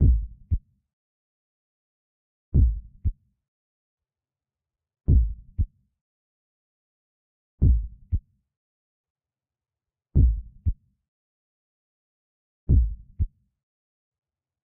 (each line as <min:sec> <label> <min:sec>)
0:00.0 SLOW HEARTBEAT 0:00.6
0:02.6 SLOW HEARTBEAT 0:03.1
0:05.1 SLOW HEARTBEAT 0:05.7
0:07.6 SLOW HEARTBEAT 0:08.2
0:10.2 SLOW HEARTBEAT 0:10.8
0:12.7 SLOW HEARTBEAT 0:13.0